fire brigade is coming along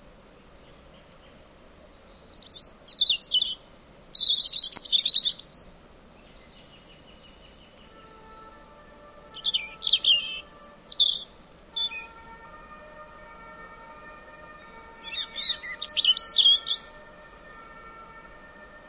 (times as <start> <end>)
7.8 18.8